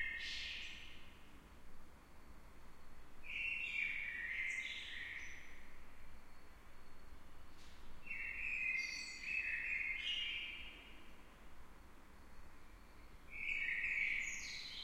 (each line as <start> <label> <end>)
3.2 Blackbird singing 5.6
8.0 Blackbird singing 11.0
13.3 Blackbird singing 14.8